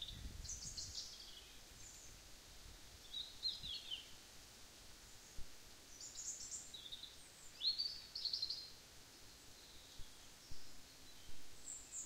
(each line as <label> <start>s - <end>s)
rustling leaves 0.0s - 12.0s